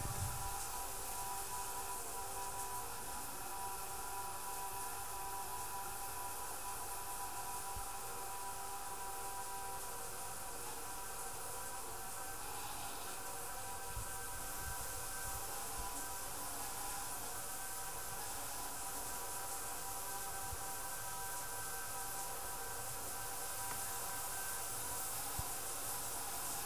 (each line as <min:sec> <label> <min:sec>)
0:00.0 shower 0:26.6